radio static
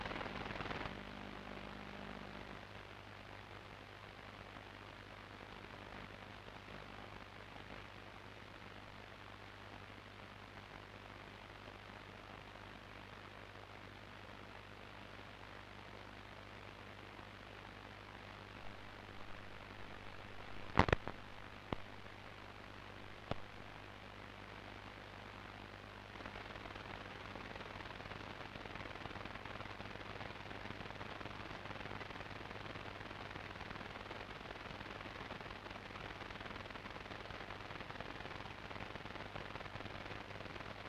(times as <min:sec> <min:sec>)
0:00.0 0:03.0, 0:18.3 0:24.0